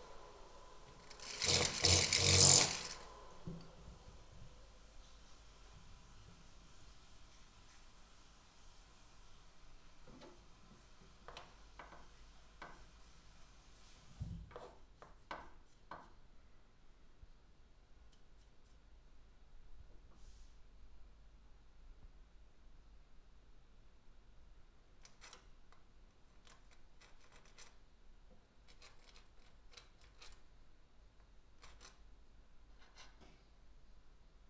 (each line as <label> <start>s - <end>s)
wall drilling 0.9s - 3.6s
chiseling 1.1s - 3.1s